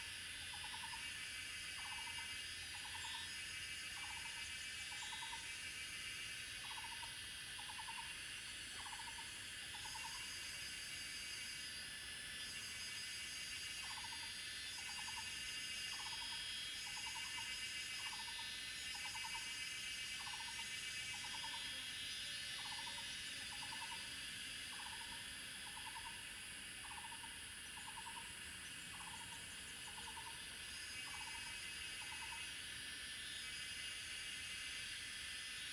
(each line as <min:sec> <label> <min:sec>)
0:00.0 Cicada sounds 0:35.7